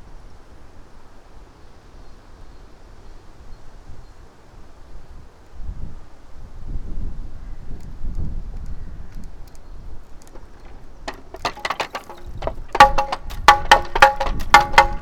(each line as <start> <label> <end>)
5.6 wind rattle 15.0